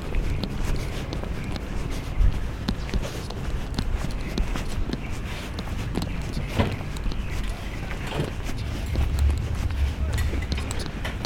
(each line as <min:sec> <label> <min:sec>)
0:00.0 Bird Singing Contest 0:11.2